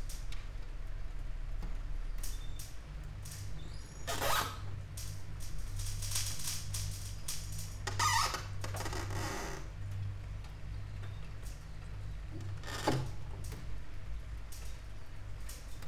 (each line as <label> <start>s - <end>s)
rain 0.0s - 4.0s
rain 4.8s - 15.8s